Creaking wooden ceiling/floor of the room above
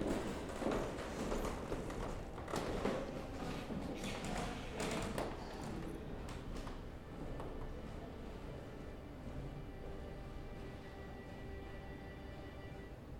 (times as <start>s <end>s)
0.0s 7.8s